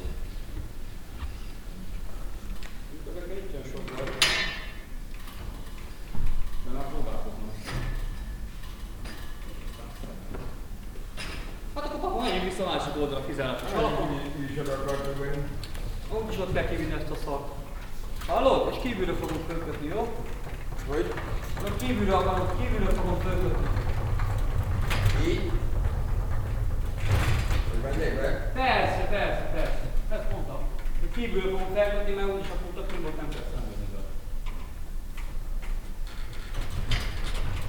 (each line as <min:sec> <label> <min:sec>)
0:11.8 technicians talking 0:34.3